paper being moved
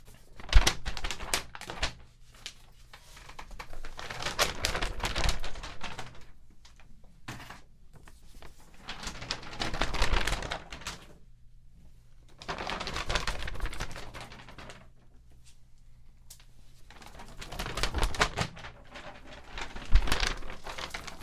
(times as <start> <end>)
16.9 21.2